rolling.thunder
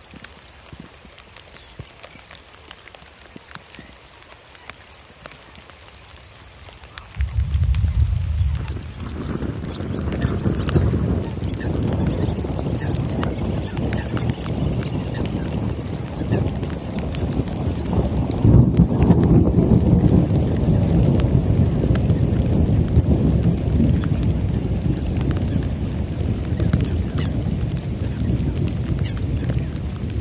7.1 30.2

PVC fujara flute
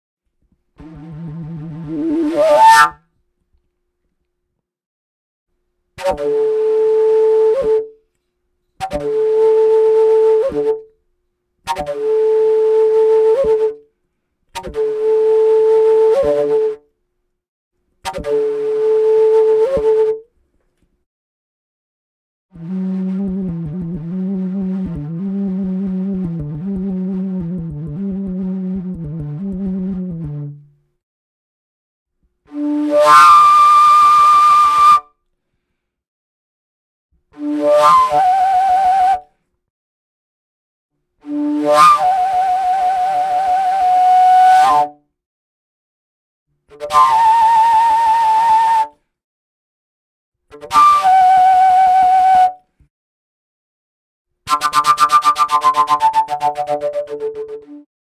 0.8 3.1, 6.0 8.0, 8.7 10.9, 11.6 13.9, 14.5 16.9, 18.0 20.3, 32.5 35.2, 37.4 39.4, 41.2 45.1, 46.7 49.0, 50.5 52.7, 54.5 57.9

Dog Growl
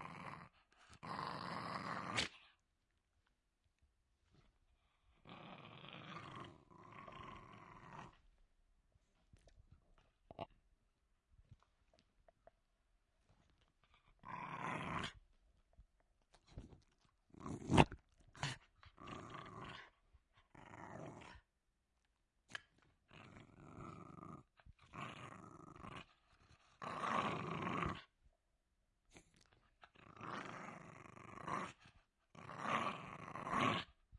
0.0 2.5, 5.1 8.3, 14.0 15.2, 17.3 21.5, 22.5 28.2, 29.1 34.0

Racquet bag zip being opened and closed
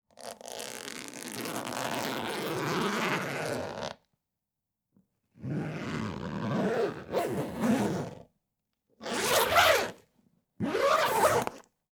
5.4 8.2, 9.0 10.0, 10.6 11.7

